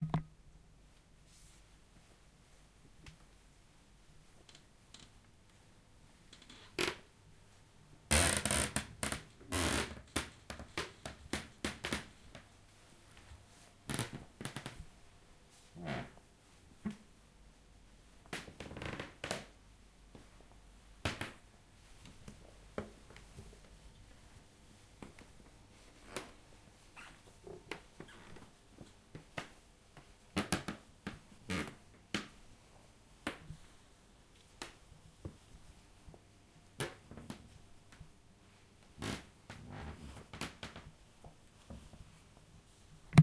walking on a squeaky floor 0:13.9 - 0:14.8
walking on a squeaky floor 0:25.0 - 0:29.5

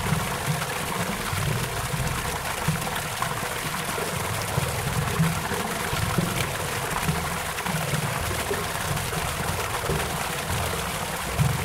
stream of water coming from a water pump 0:00.0 - 0:11.6

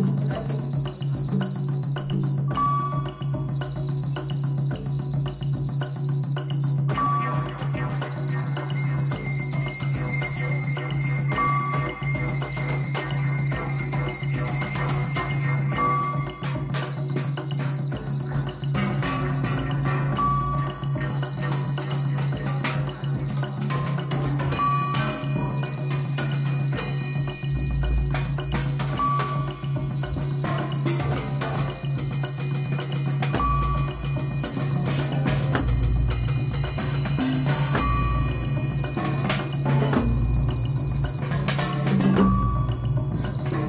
bells 0:00.0 - 0:43.6

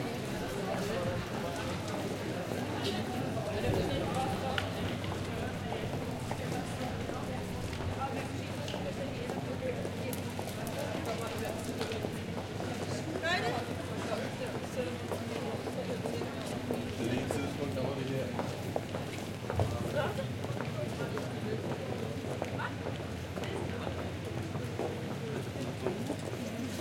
People walking by 0:00.0 - 0:26.8

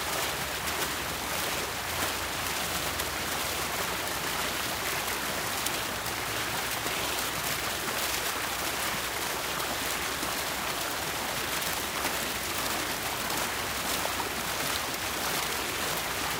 small splashy fountain water fixture 0:00.0 - 0:16.3

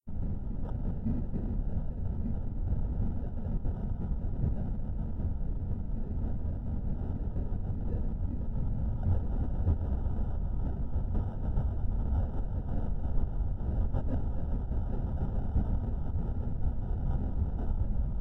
hum 0:00.0 - 0:18.2

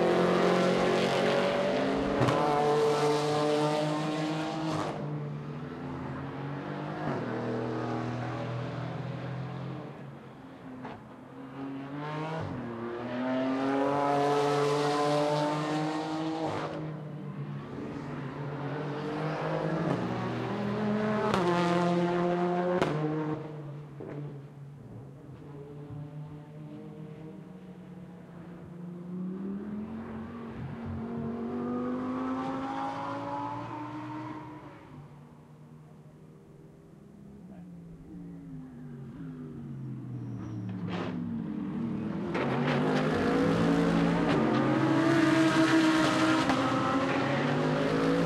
cars 0:00.0 - 0:48.2

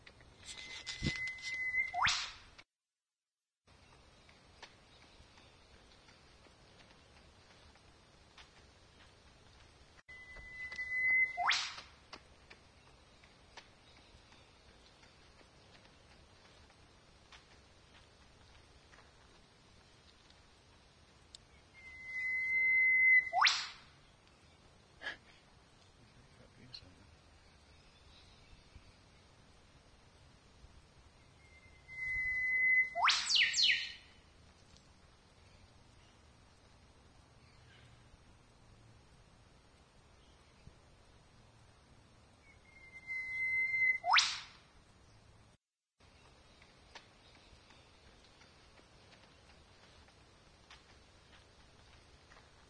Auissie Whipbird 0:00.5 - 0:02.6
Auissie Whipbird 0:10.4 - 0:12.2
Auissie Whipbird 0:23.0 - 0:24.0
Auissie Whipbird 0:32.6 - 0:34.0
Auissie Whipbird 0:43.8 - 0:44.7

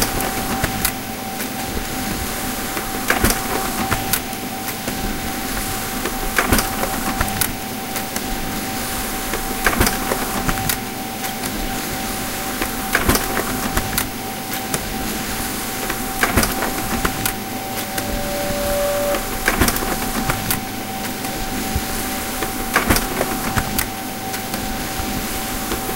Laser jet printer 0:15.9 - 0:20.2

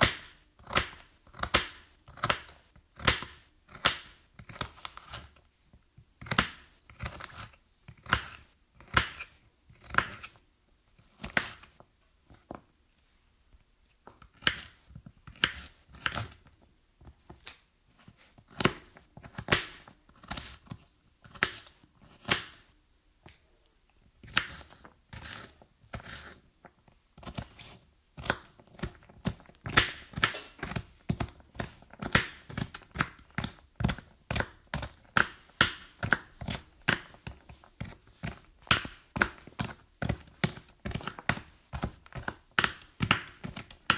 Cutting carrots 0:00.0 - 0:05.4
Cutting carrots 0:06.2 - 0:10.4
Cutting carrots 0:11.0 - 0:11.8
Cutting carrots 0:14.0 - 0:17.6
Cutting carrots 0:18.3 - 0:22.7
Cutting carrots 0:24.2 - 0:43.9

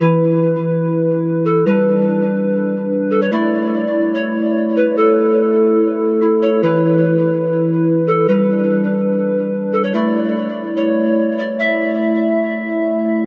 Flutey/Pad/Melody 0:00.0 - 0:13.2

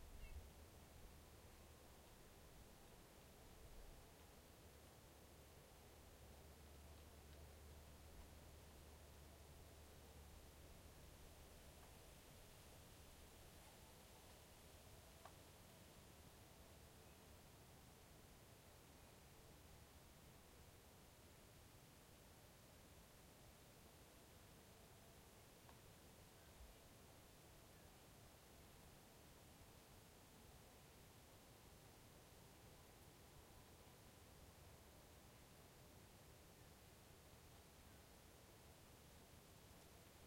wind 0:00.0 - 0:40.2

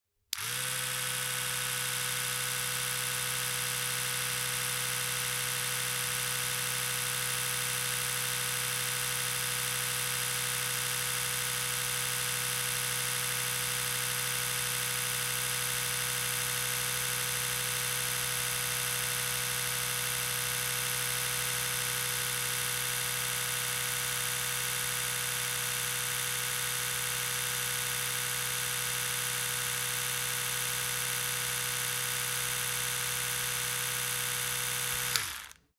Electrical toothbrush without brush-head 0:00.3 - 0:35.7

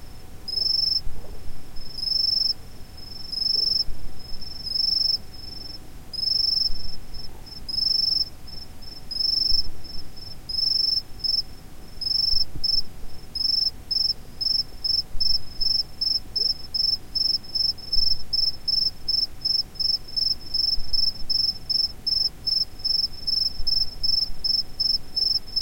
distant crickets chirping 0:00.5 - 0:01.0
distant crickets chirping 0:01.8 - 0:25.6

